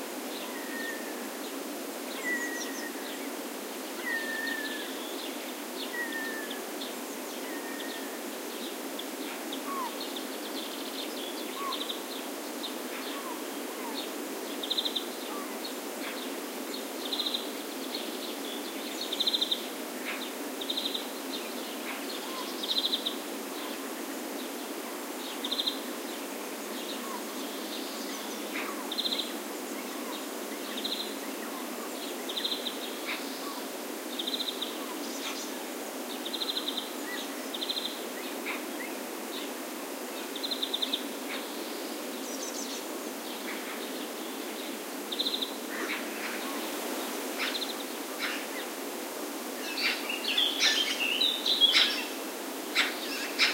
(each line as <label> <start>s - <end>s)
other birds in background 49.6s - 53.5s